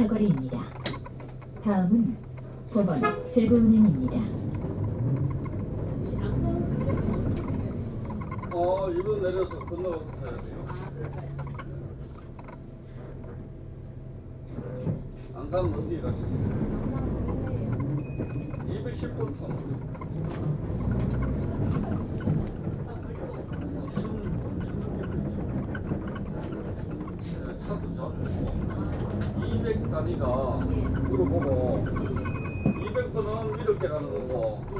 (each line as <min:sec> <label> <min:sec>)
0:00.0 Public bus ride 0:34.7